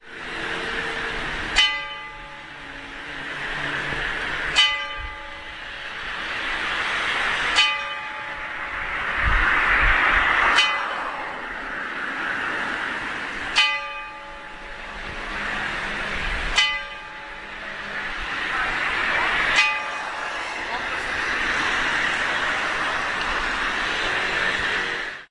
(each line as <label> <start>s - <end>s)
church clock is striking 0.9s - 3.2s
church clock is striking 3.9s - 5.7s
church clock is striking 7.3s - 9.0s
church clock is striking 10.4s - 11.5s
church clock is striking 13.5s - 18.0s
church clock is striking 19.3s - 20.4s